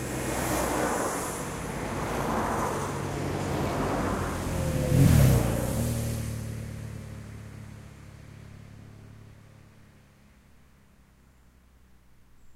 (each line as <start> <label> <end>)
0.0 cars passing nearby 8.7